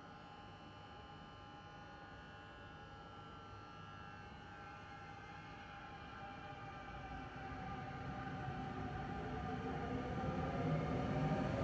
Train coming into the underground station 5.8 - 11.6

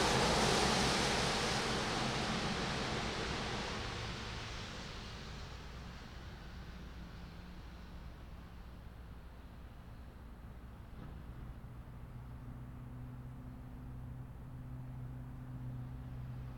cars zoom past 0.0 - 4.8

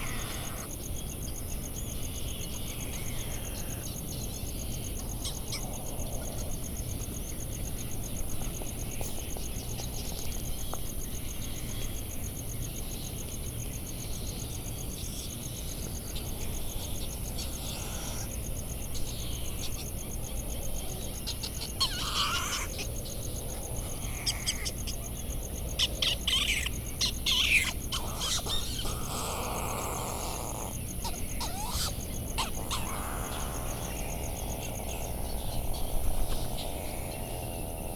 Bonin Petrel calls and flight calls 0.0 - 0.7
cricket ticking the seconds 0.0 - 37.9
Bonin Petrel calls and flight calls 21.2 - 22.9
calls from black noddy and white terns 21.4 - 22.8
Bonin Petrel calls and flight calls 25.8 - 34.2
calls from black noddy and white terns 26.0 - 34.1
calls and bill clappering from laysan albatross 26.1 - 33.9

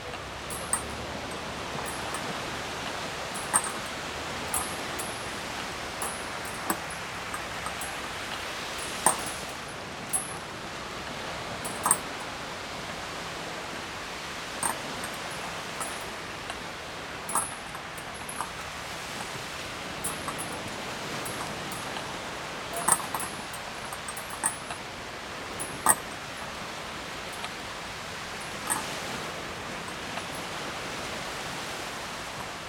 sea noise 0.0 - 32.6
swings 3.4 - 8.2
swings 8.8 - 10.5

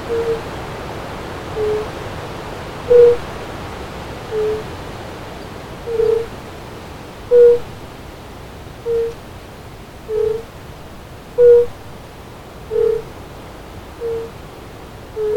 Fire-bellied toads singing 0.0 - 0.5
Fire-bellied toads singing 1.5 - 2.0
Fire-bellied toads singing 2.9 - 3.2
Fire-bellied toads singing 4.3 - 4.7
Fire-bellied toads singing 5.9 - 6.4
Fire-bellied toads singing 7.3 - 7.7
Fire-bellied toads singing 8.8 - 9.2
Fire-bellied toads singing 10.1 - 10.5
Fire-bellied toads singing 11.4 - 11.8
Fire-bellied toads singing 12.7 - 13.1
Fire-bellied toads singing 14.0 - 14.4
Fire-bellied toads singing 15.2 - 15.3

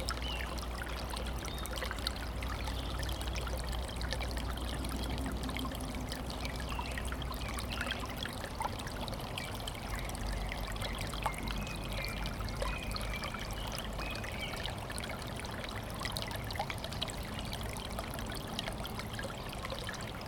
stream flowing out of a spring 0.0 - 20.2

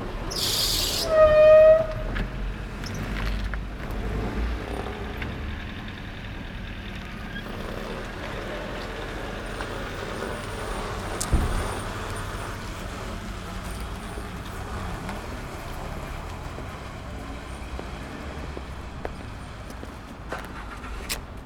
Passing by cars 0.0 - 21.4
steps 13.6 - 21.2

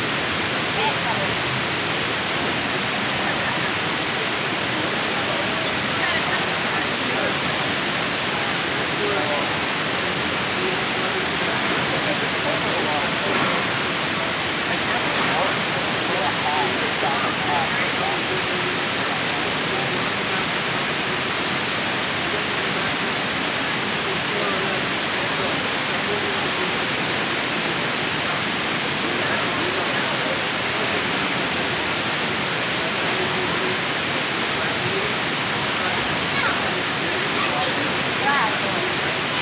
artificial waterfall 0.0 - 39.4

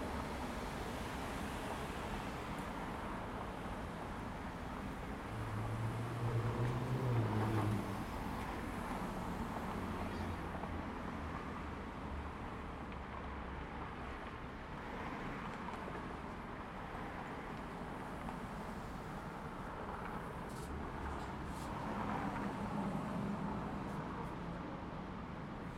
traffic 0.0 - 25.7

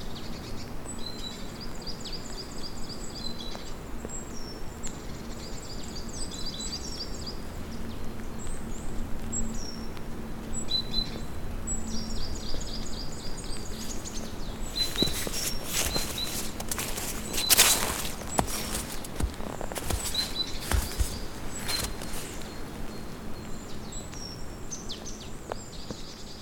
birds singing 0.0 - 26.4
footsteps in the snow 12.4 - 23.8

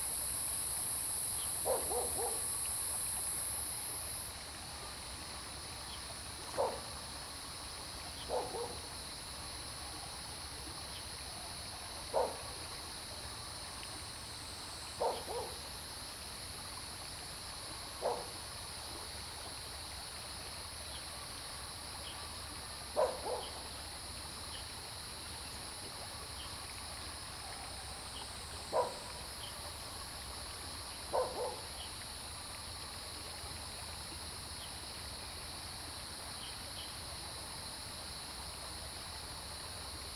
Stream 0.0 - 40.1
Dogs barking 1.6 - 2.4
Dogs barking 6.6 - 6.8
Dogs barking 8.3 - 8.8
Dogs barking 12.1 - 12.4
Dogs barking 15.0 - 15.6
Dogs barking 18.0 - 18.3
Dogs barking 23.0 - 23.6
Dogs barking 28.7 - 29.0
Dogs barking 31.1 - 31.7

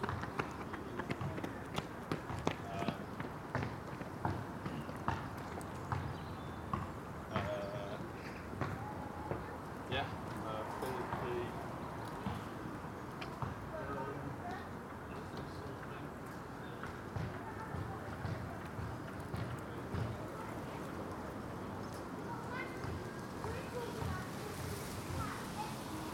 mother and son run laps 0.0 - 9.6
street footballers bounce and shout 0.0 - 15.6
street footballers bounce and shout 16.3 - 24.3

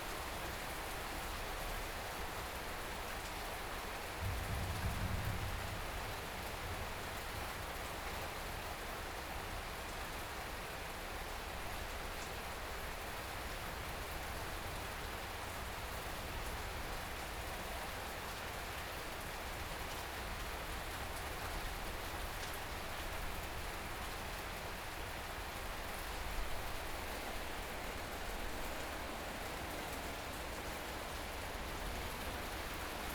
Thunderstorm 4.2 - 7.5

